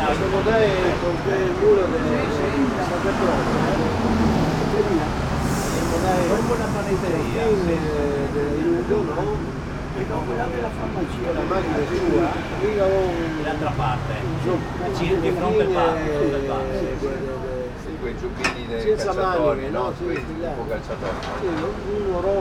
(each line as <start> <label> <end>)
0.0 seniors talking triestino 22.4